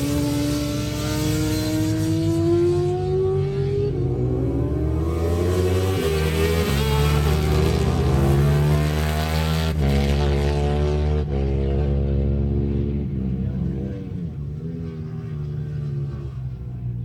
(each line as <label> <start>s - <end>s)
Superbikes Qualifying 0.0s - 17.0s